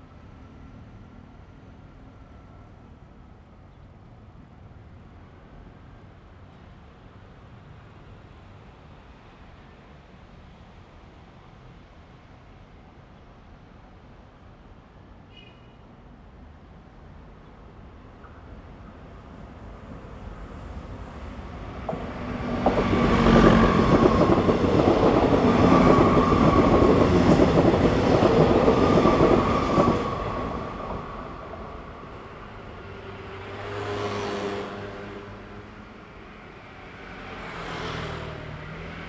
Traffic sound 16.4 - 39.0
Train traveling through 17.0 - 39.0

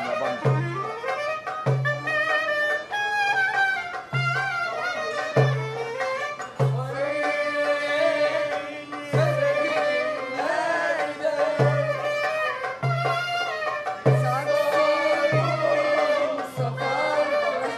accompanies the singing 6.4 - 12.4
songs of the musicians 6.4 - 13.0
songs of the musicians 13.8 - 17.7
accompanies the singing 14.0 - 17.7

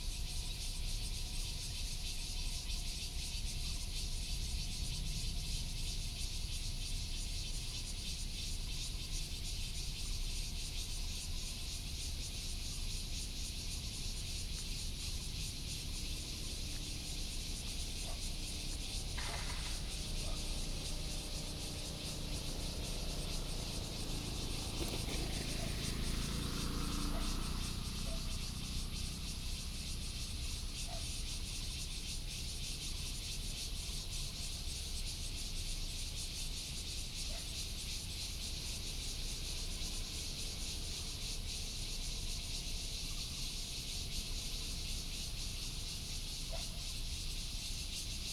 Cicada cry 0.0 - 48.3
birds sound 14.0 - 32.6
traffic sound 15.0 - 31.2

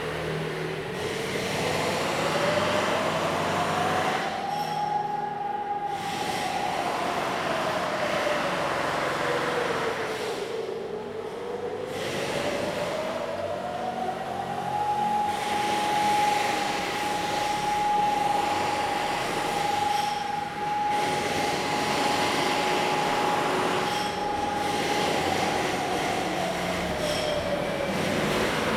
Exercise sound alarm 1.6 - 10.2
Construction Sound 11.9 - 28.7
Exercise sound alarm 12.6 - 28.7

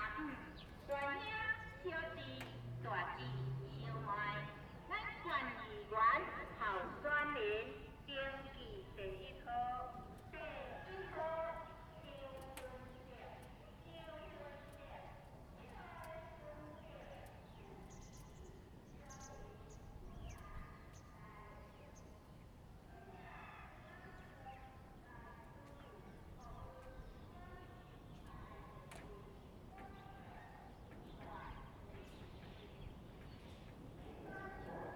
Election propaganda vehicles 0.0 - 10.7

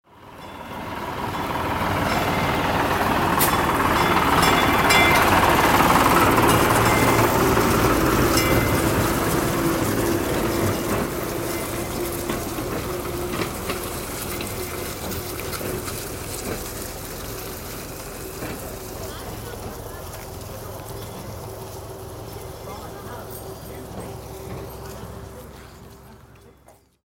old tourist tram 0.0 - 27.0

